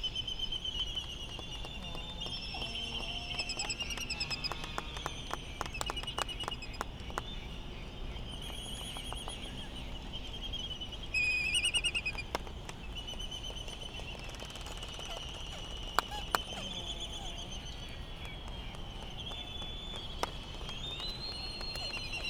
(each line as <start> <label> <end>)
0.0 laysan calls 22.2
14.6 white tern calls 19.6